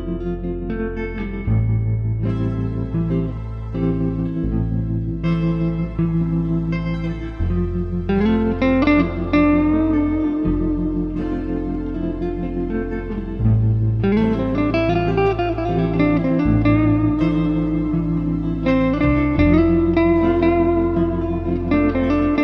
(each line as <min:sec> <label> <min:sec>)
0:00.0 electric guitar 0:22.4